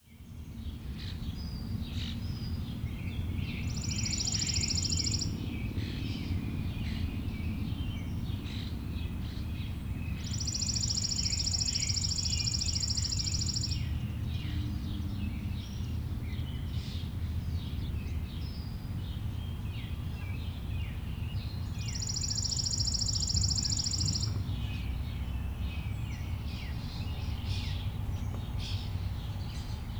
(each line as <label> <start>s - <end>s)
trilling of the pretty Chipping Sparrow 3.6s - 5.8s
trilling of the pretty Chipping Sparrow 10.1s - 14.0s
trilling of the pretty Chipping Sparrow 21.4s - 25.2s